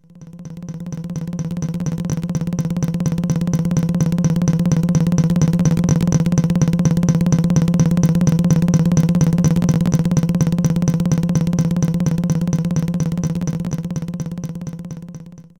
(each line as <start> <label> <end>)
0.0 drum 15.5